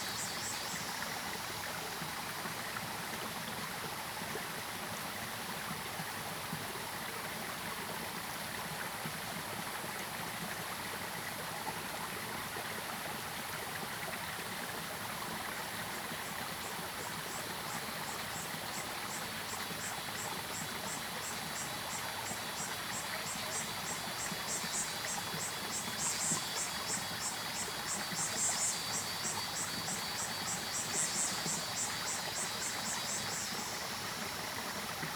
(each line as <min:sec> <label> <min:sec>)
0:00.0 Cicadas called 0:01.8
0:00.0 Stream sound 0:35.1
0:16.2 Frogs called 0:35.1
0:16.5 Cicadas called 0:35.1